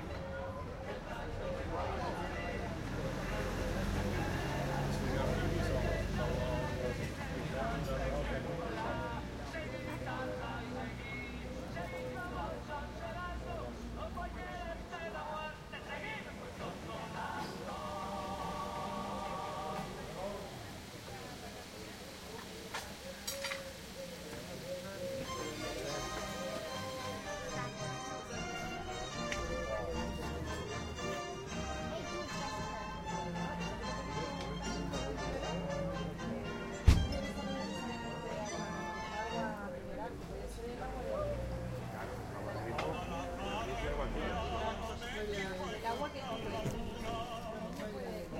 music 0.0 - 20.5
People are sitting outside the café 0.0 - 48.3
cars and scooters passing by 1.1 - 9.4
music 24.9 - 48.3
cars and scooters passing by 39.7 - 46.6

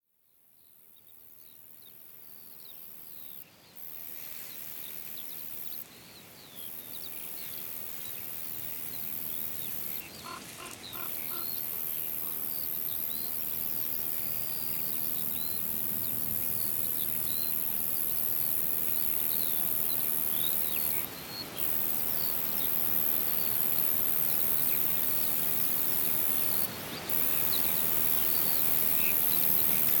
small birds in the distance 0.1 - 30.0
Intense grasshopper sounds 0.9 - 30.0
trees sound like waves 20.6 - 30.0

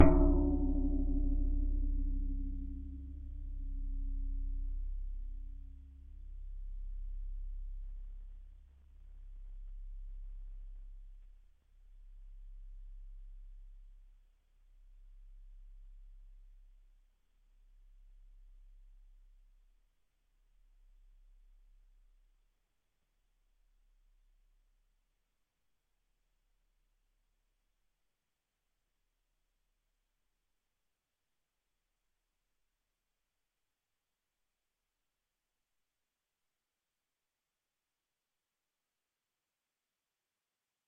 Gong 0.0 - 10.7

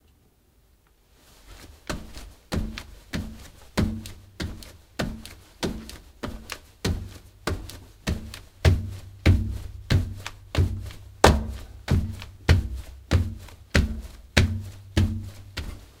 jumping barefoot on a hard floor 1.5 - 16.0

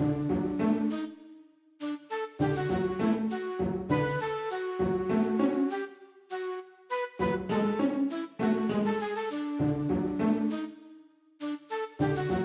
trumpet 1.8 - 9.7
trumpet 11.4 - 12.4

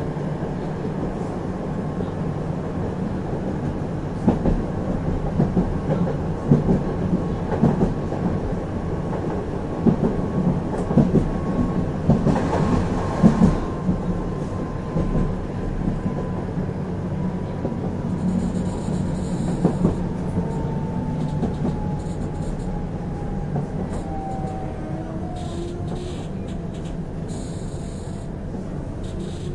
Tram doors open and close 0.0 - 29.5
tram drive 0.0 - 29.5

